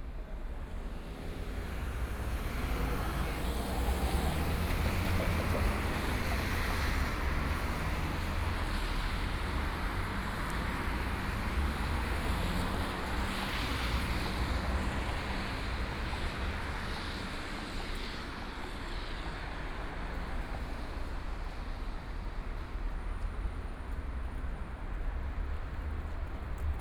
0.0s Traffic 26.8s

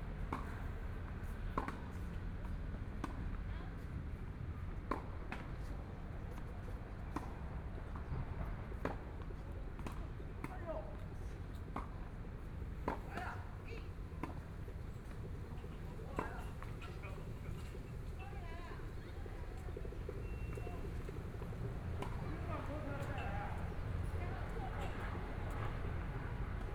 0.2s Tennis 26.7s
17.2s Traffic Sound 26.7s

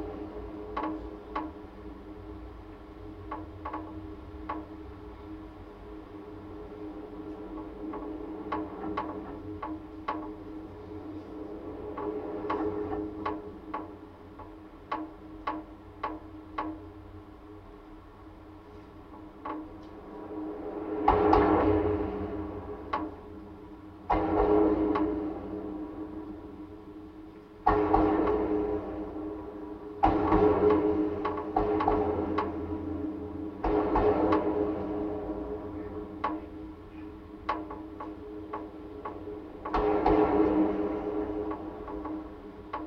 0.0s metallic constructions of the bridge 42.8s

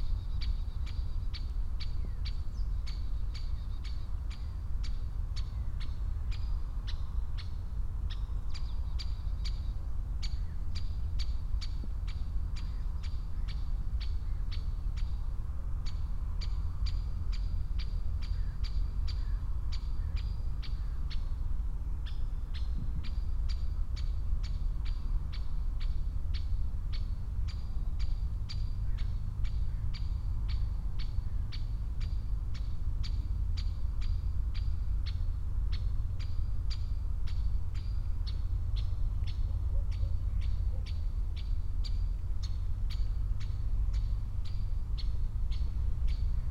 0.0s bird is singing on top of aspen tree 46.5s

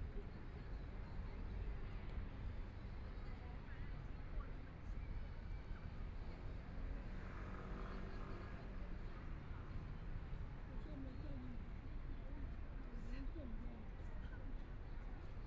0.0s Environmental noise generated by distant airport 15.4s

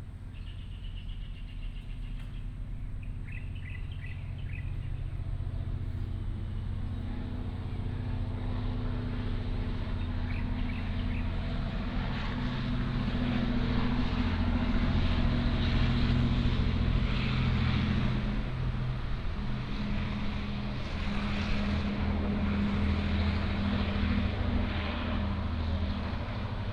0.2s birds sound 7.8s
9.7s birds sound 11.7s

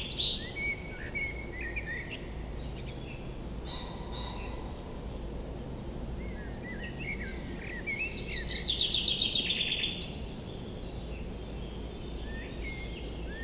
0.0s call from the Common Chaffinch 5.3s
6.2s call from the Common Chaffinch 13.4s

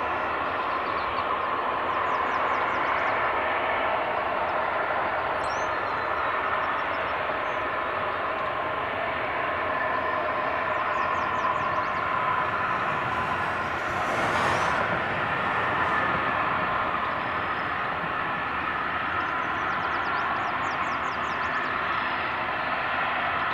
11.5s Steam blowoff 18.0s

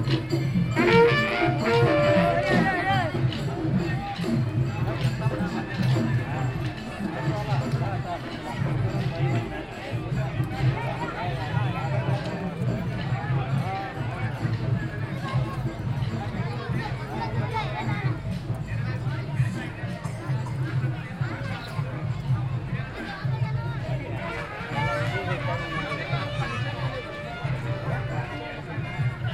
0.7s fanfare 3.2s

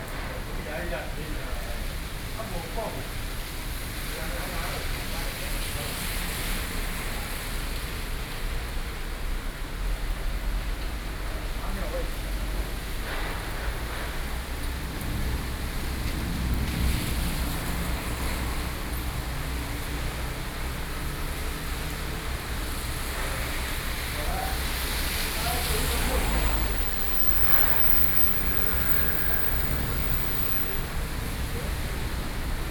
0.0s Traffic Noise 32.7s
0.0s conversation among workers 8.1s
11.2s conversation among workers 16.8s
12.4s Thunderstorm 20.6s
22.0s conversation among workers 32.0s
22.5s Thunderstorm 32.7s
24.0s Community broadcasting 31.8s

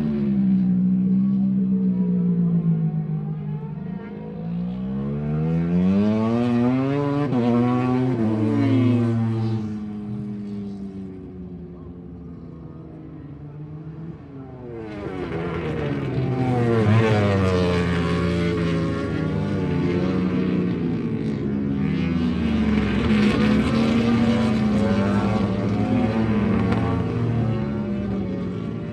0.0s Motorcycle 28.9s

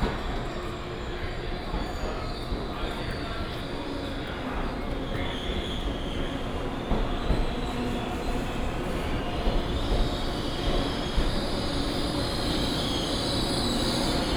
0.0s Train arrived 14.3s
0.0s walking in the Station 14.3s

